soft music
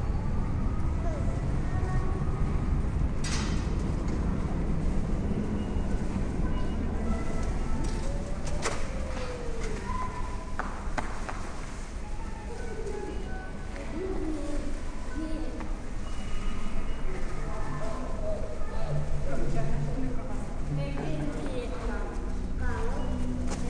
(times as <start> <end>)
17.2 23.6